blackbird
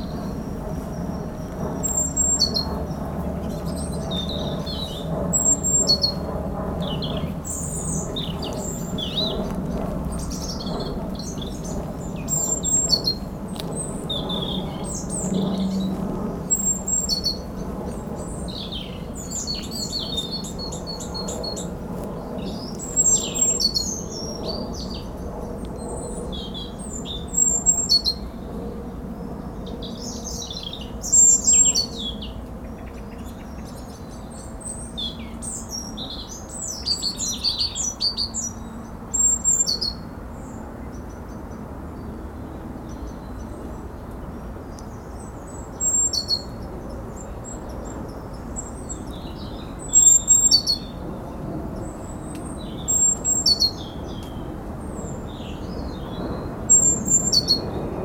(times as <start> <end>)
0.0 28.3, 44.7 57.8